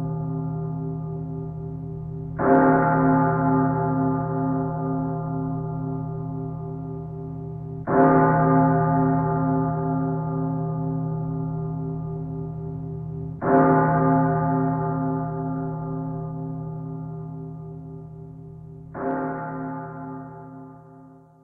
church bell tolling 0:00.0 - 0:21.4

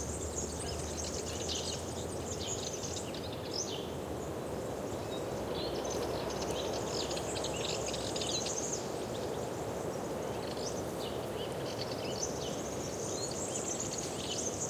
insects 0:00.0 - 0:14.6
wind on trees 0:00.0 - 0:14.6

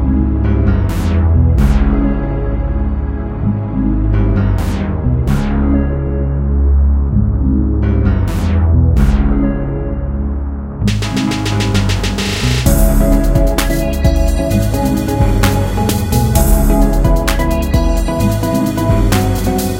drums 0:10.9 - 0:19.7
hi hat 0:10.9 - 0:19.7

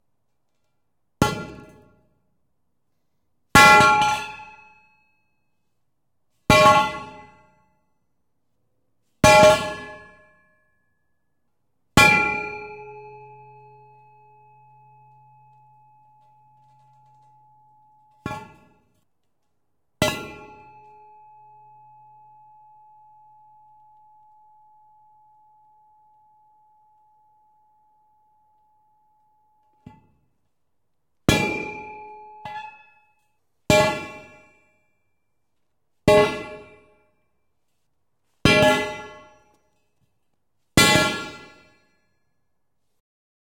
steel pipe dropped into concrete floor 0:18.1 - 0:19.0

